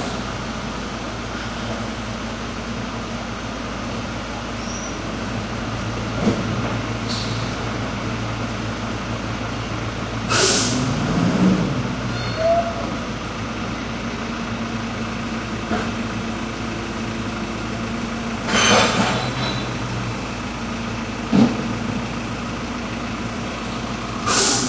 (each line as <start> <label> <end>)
0.0 garbage truck 24.6